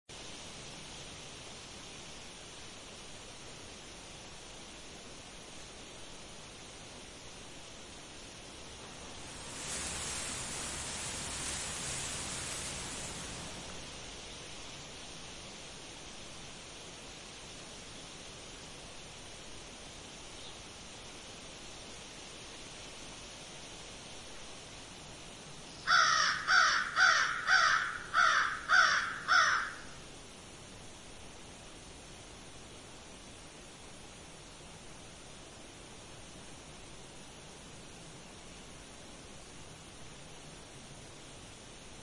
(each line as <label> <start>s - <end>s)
wind is blowing 0.1s - 29.1s
crows 25.8s - 30.0s